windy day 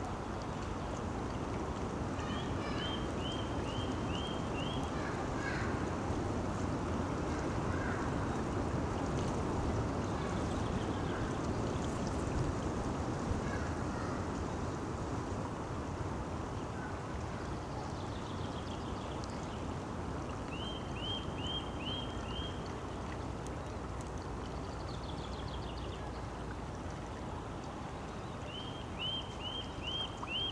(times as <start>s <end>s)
4.9s 18.5s